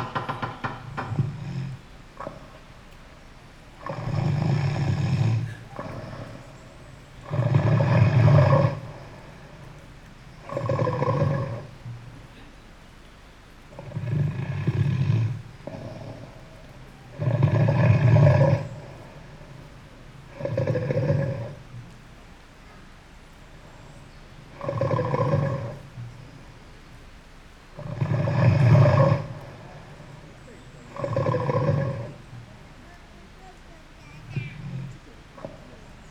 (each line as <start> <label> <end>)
0.0 voices 36.1
0.0 wind 36.1
0.1 rain 36.1